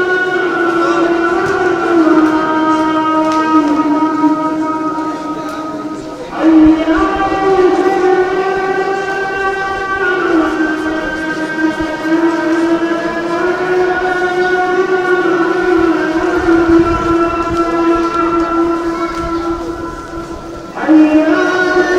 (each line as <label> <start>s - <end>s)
Azan (Muslim call to prayer) 0.0s - 21.9s